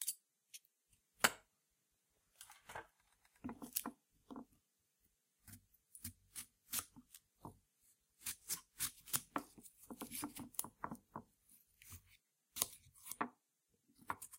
8.2s Slicing a Melon on a Plate 10.8s
11.8s Slicing a Melon on a Plate 13.4s

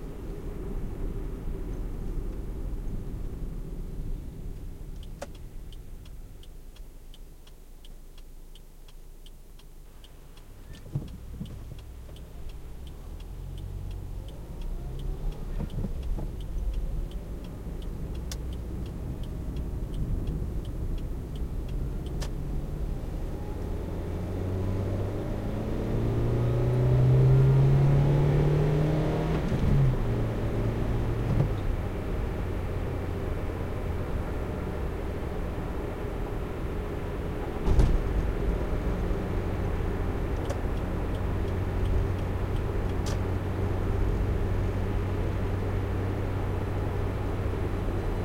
0.0s driving a car 48.2s
0.0s traffic 48.2s
37.6s opening the car 38.2s

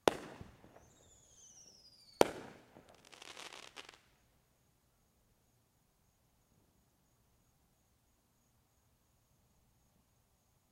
0.0s Fireworks 4.1s

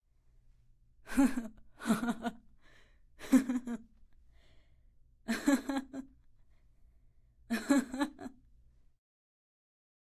1.1s Laughter 2.5s
2.6s Breath 3.1s
3.2s Laughter 3.9s
4.2s Breath 5.0s
5.3s Laughter 6.2s
7.5s Laughter 8.4s

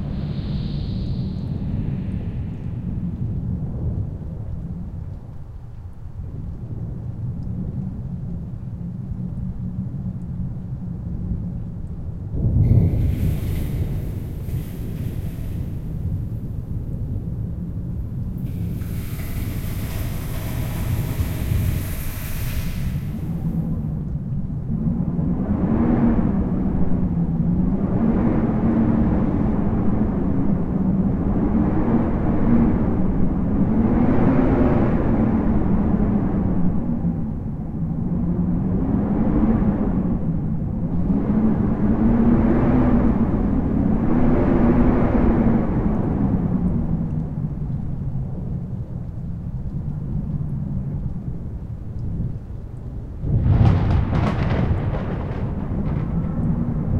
0.0s wind howling 49.1s
12.3s thunder 24.0s
49.8s wind howling 56.9s
52.9s thunder 56.9s

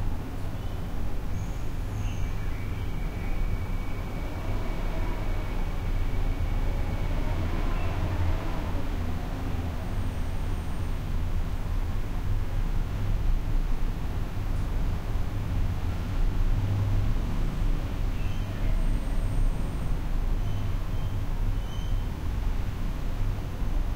0.0s distant traffic through partially open window 23.9s

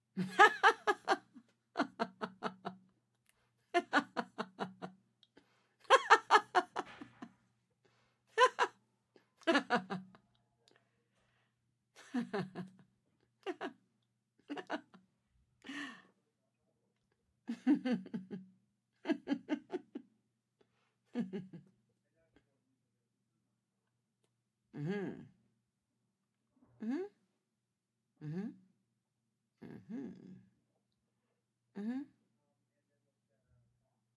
0.2s Middle-aged woman laughing 2.8s
3.7s Middle-aged woman laughing 5.0s
5.8s Middle-aged woman laughing 7.3s
8.3s Middle-aged woman laughing 8.7s
9.4s Middle-aged woman laughing 10.2s
12.0s Middle-aged woman laughing 12.8s
13.4s Middle-aged woman laughing 13.7s
14.5s Middle-aged woman laughing 15.0s
17.5s Middle-aged woman laughing 18.4s
19.0s Middle-aged woman laughing 20.0s
21.1s Middle-aged woman laughing 21.7s

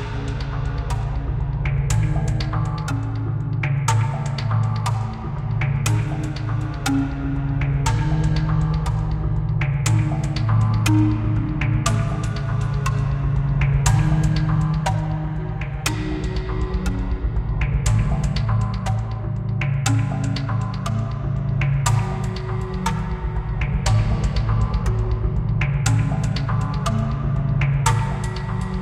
0.0s background music 28.8s

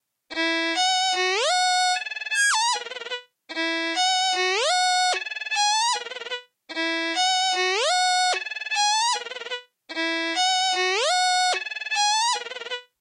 0.3s Small violin passage 12.9s

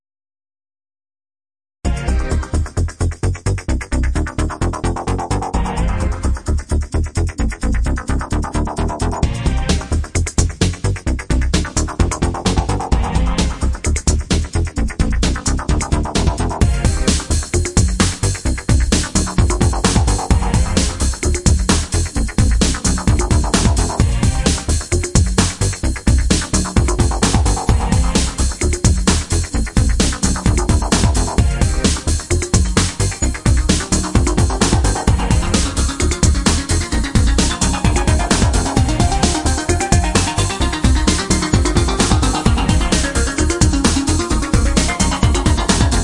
1.9s breakbeat 46.0s
15.6s synth 21.8s
26.4s synth 46.0s

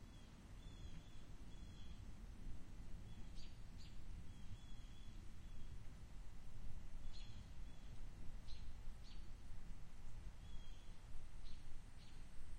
0.0s Birds 2.1s
3.0s Birds 5.9s
7.0s Birds 9.4s
10.1s Birds 12.5s

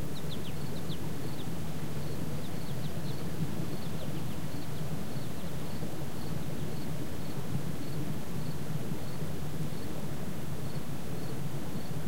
0.0s birds 9.2s
0.0s insects 12.0s
0.0s water 12.0s

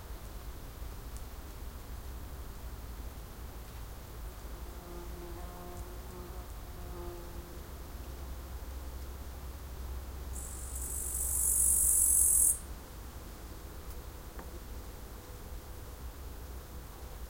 10.2s insects 12.8s
10.3s Bush crickets (katudids) chirping 12.7s

